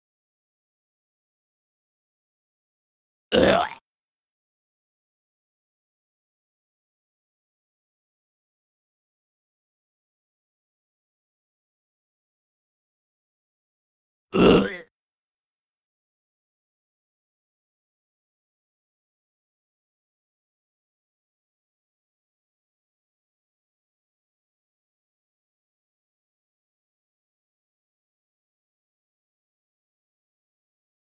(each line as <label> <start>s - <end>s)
Single groaning zombie 3.3s - 3.8s
Single groaning zombie 14.4s - 14.9s